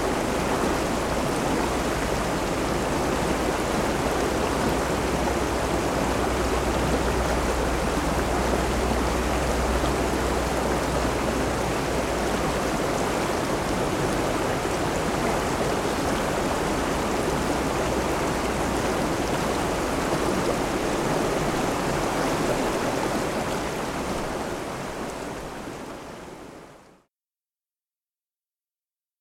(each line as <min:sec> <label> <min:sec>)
0:00.0 Waterfall 0:27.1